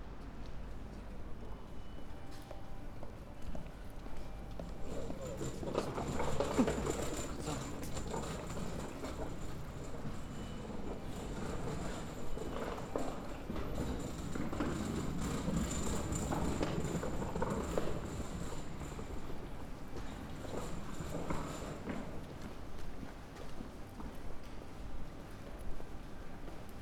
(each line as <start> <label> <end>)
0.0 sounds of the streets 26.8